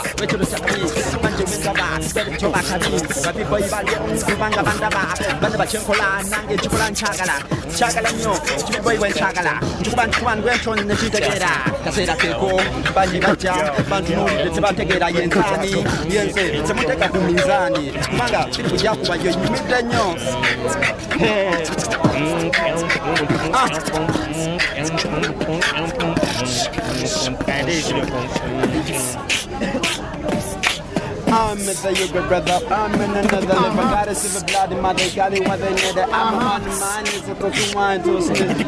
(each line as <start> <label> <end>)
0.0 beat boxing 38.6